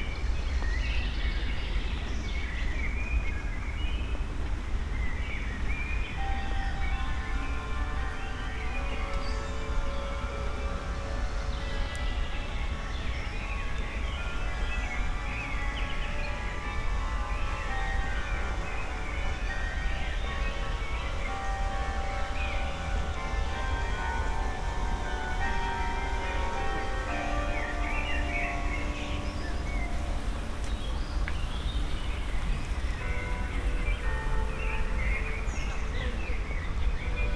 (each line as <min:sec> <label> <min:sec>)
0:03.5 walking along the canal 0:37.3